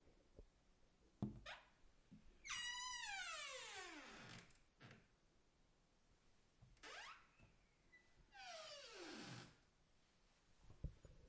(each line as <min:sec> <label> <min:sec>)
0:02.5 Squeaky Door Opened 0:04.4
0:06.8 Squeaky Door Opened 0:09.4